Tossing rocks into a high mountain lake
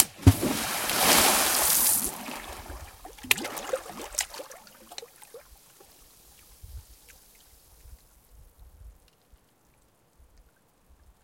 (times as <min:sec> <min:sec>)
0:00.0 0:05.1